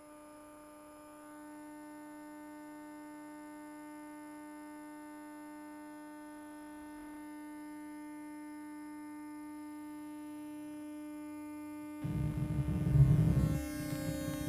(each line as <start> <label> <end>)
12.0 electromagnetic waves 14.4